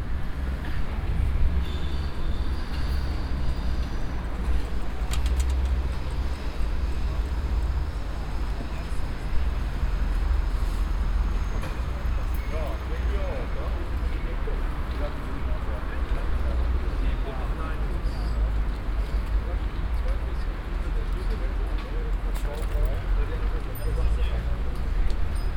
durchfahrt der u-bahn 0.0 - 25.5
people 11.4 - 25.5

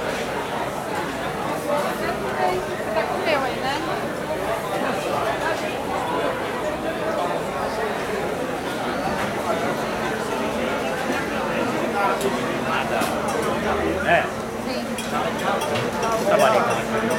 People talking 0.0 - 17.1
noise of the machines in background 0.0 - 17.1

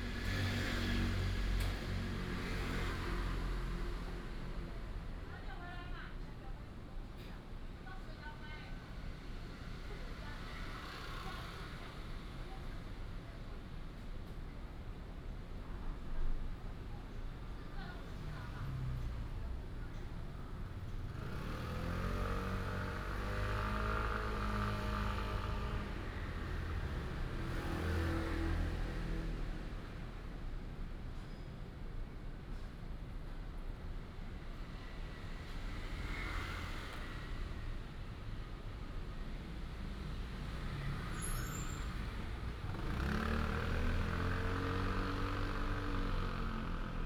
traffic sound 0.0 - 6.1
Walking in the old community alley 0.0 - 47.0
traffic sound 16.7 - 47.0

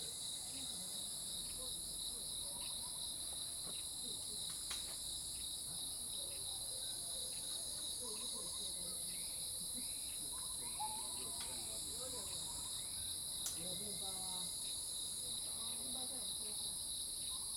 Insect sounds 0.0 - 17.5

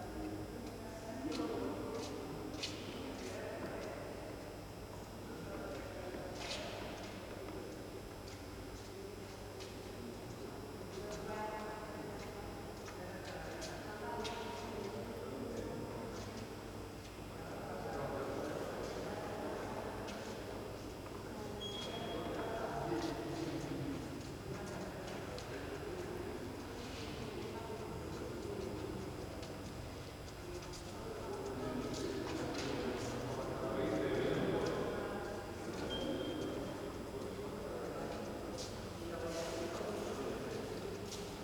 people talking 0.0 - 16.7
people talking 17.4 - 29.7
buzz and beeps of lamps and electric devices 21.6 - 22.4
people talking 30.4 - 41.4
buzz and beeps of lamps and electric devices 35.9 - 36.6

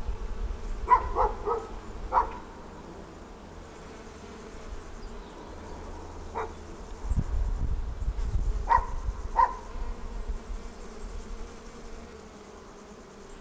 swarm of bees 0.0 - 13.4
crickets 0.6 - 13.4
barking dog 0.9 - 2.5
birds 4.8 - 7.3
barking dog 6.4 - 6.6
barking dog 8.7 - 9.6

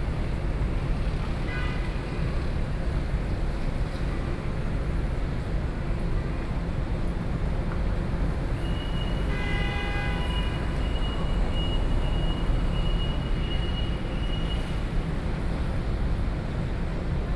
Traffic Noise 0.0 - 17.3

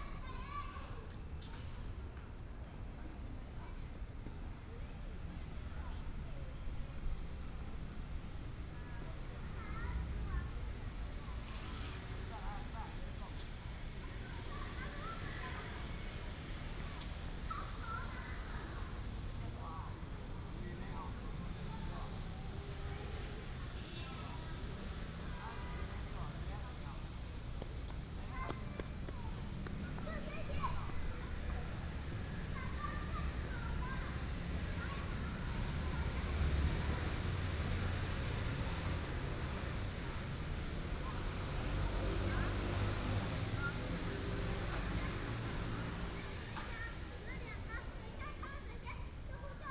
Child 0.0 - 2.3
Traffic sound 0.0 - 49.7
Child 8.8 - 20.0
Child 27.8 - 49.7

